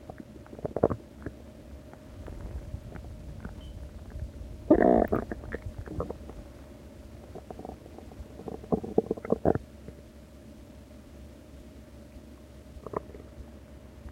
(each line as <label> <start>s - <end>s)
groans 4.7s - 6.3s